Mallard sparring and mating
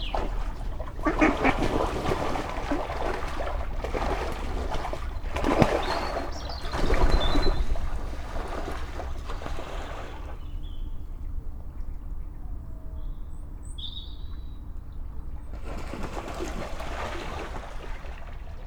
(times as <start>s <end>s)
1.0s 2.4s